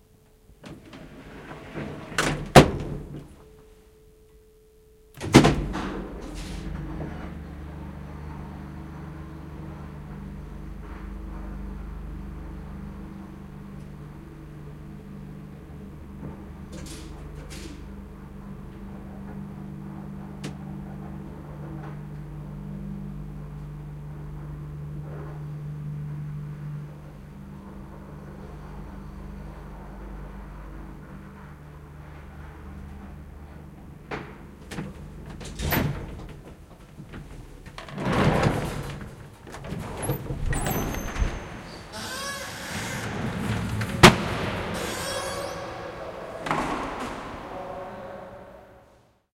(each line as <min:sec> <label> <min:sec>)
0:00.1 elevator 0:03.9
0:00.6 door 0:03.3
0:05.0 elevator 0:48.6
0:05.2 door 0:06.7
0:37.8 door 0:45.7